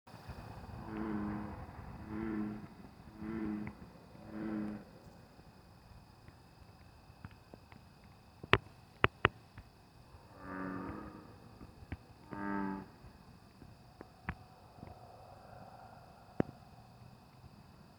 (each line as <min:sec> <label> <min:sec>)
0:00.7 Three Frogs Croaking in Pond 0:05.8
0:08.4 Three Frogs Croaking in Pond 0:17.5